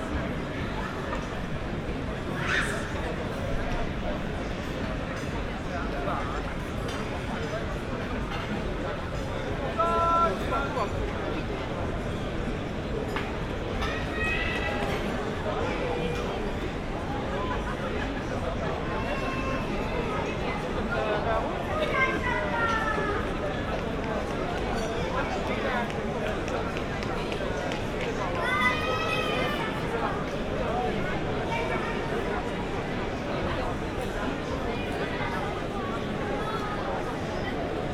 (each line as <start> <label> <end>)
0.0 murmur of many voices 37.9